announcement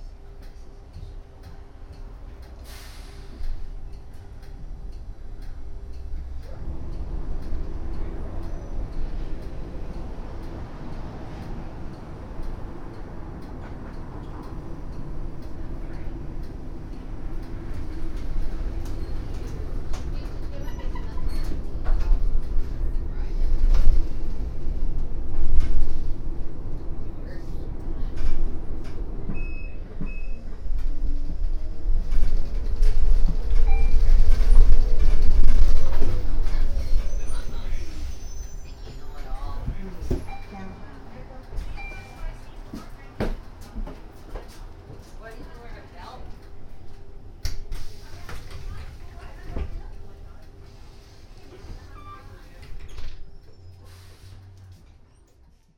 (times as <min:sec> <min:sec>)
0:36.5 0:43.2